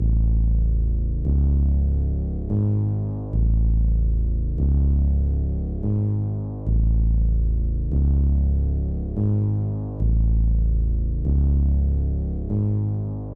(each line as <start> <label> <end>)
0.0 Bass loop 13.3